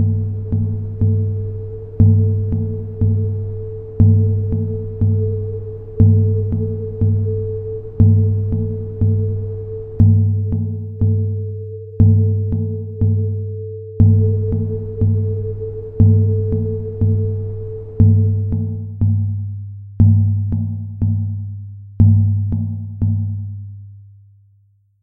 0.0s noise track 19.4s

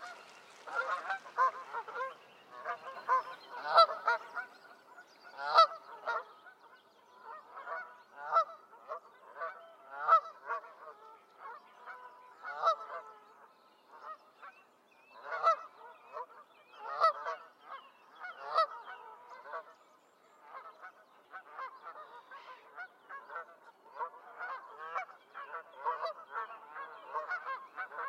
0.0s song thrush 10.4s
0.0s mallard 13.2s
0.0s common pheasant 13.3s
0.0s Canada geese 19.8s
11.2s song thrush 28.0s
15.2s mallard 19.7s
20.3s common pheasant 28.0s
20.4s Canada geese 28.0s
20.4s mallard 28.0s

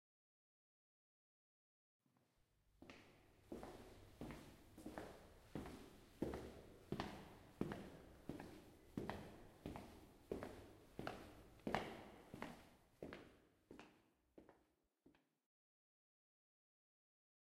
2.1s Walking in hallway 15.3s

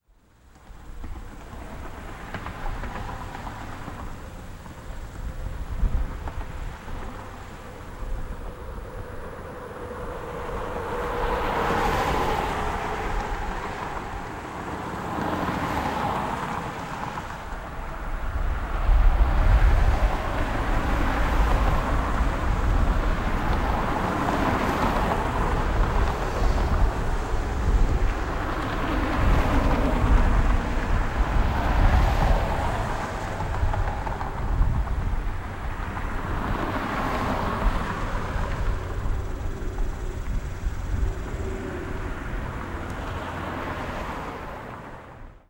0.1s Cars and small trucks passing both ways 45.4s
0.2s Insects in background 44.6s
0.5s clicks of tires 44.4s

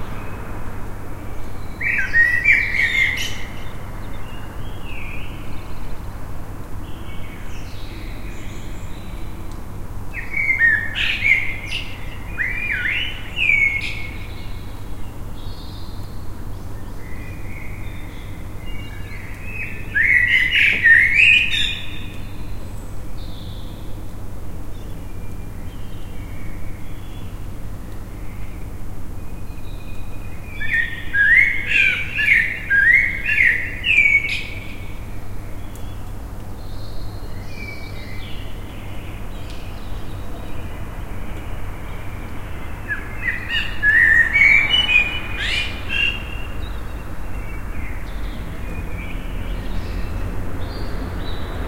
1.5s blackbird 5.9s
10.1s blackbird 14.8s
16.8s blackbird 24.0s
29.4s blackbird 51.6s

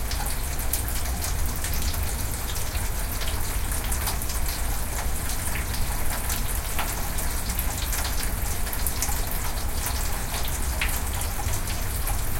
0.0s medium rain 12.3s

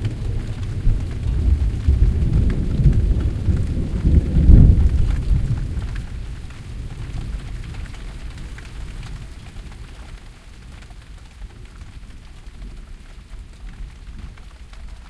0.0s thunder 9.6s
0.0s rain 15.0s

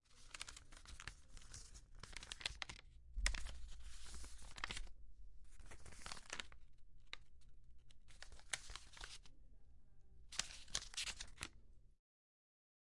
0.1s Taking The Newspaper 4.8s
10.3s Taking The Newspaper 11.5s

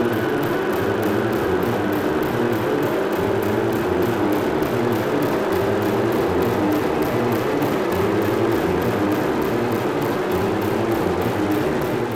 0.0s Driving rhythm 12.1s

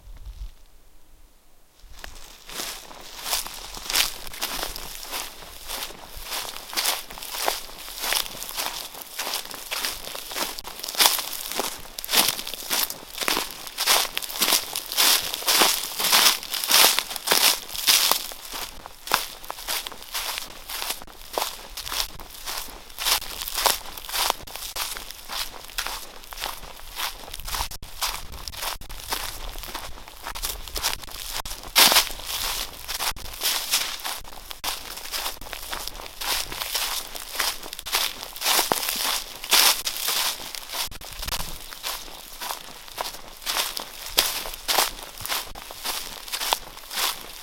1.8s footsteps 47.4s

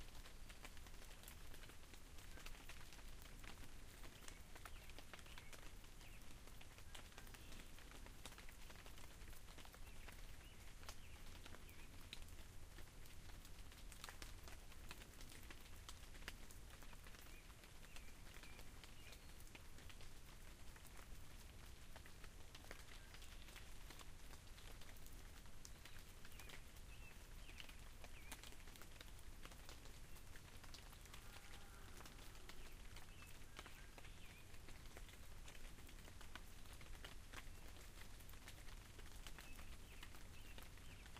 0.0s rain falling across the field 41.1s
0.0s rain hits the leaves of a big sycamore tree 41.1s
0.2s Birds sing in the distance 41.1s

